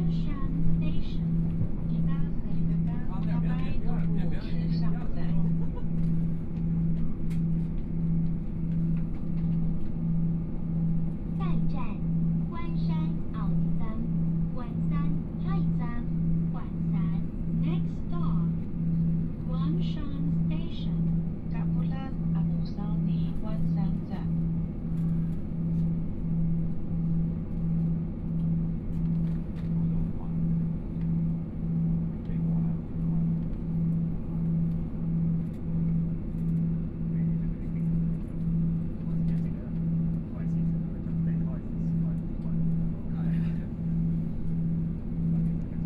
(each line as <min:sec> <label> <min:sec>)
0:00.0 Train voice message broadcasting 0:05.8
0:00.0 Dialogue between tourists 0:07.3
0:00.0 Noise inside the train 0:45.8
0:11.2 Dialogue between tourists 0:24.7
0:11.3 Train voice message broadcasting 0:24.4
0:32.0 Train voice message broadcasting 0:33.4
0:39.1 Train voice message broadcasting 0:44.2